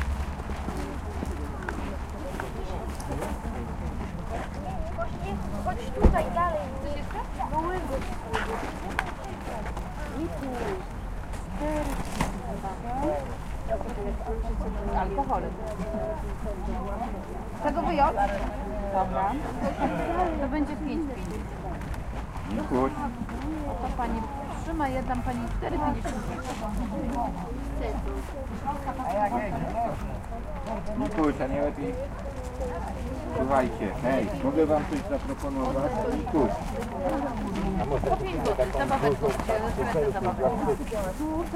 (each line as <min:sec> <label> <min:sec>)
0:00.0 people's voices 0:41.5